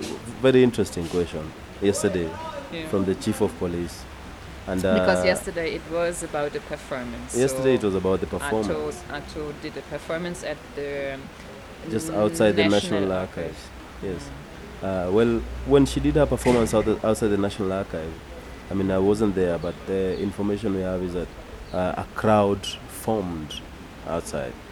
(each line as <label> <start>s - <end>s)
Jimmy describes Ato’s performance 0.3s - 4.0s
Jimmy describes Ato’s performance 4.7s - 5.4s
Jimmy describes Ato’s performance 7.3s - 9.0s
Jimmy describes Ato’s performance 11.9s - 14.2s